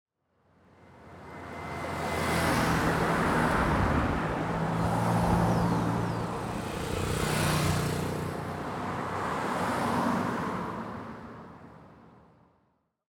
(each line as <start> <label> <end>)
0.8 cars passing by 12.2